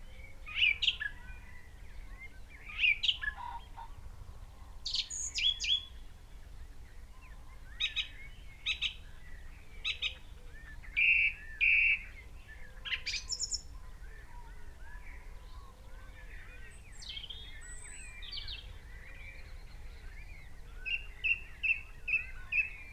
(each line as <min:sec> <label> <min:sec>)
0:00.0 background noise 0:22.9
0:00.0 pheasant 0:06.1
0:02.7 red-legged partridge 0:04.0
0:07.2 pheasant 0:22.9